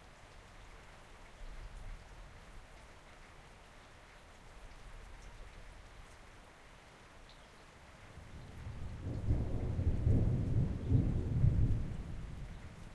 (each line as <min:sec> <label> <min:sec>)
0:00.0 gentle rain 0:12.9
0:08.2 Distant thunder 0:12.9